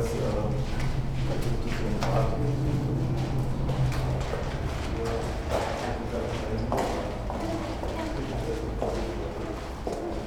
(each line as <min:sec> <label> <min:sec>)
0:00.0 pedestrians 0:10.2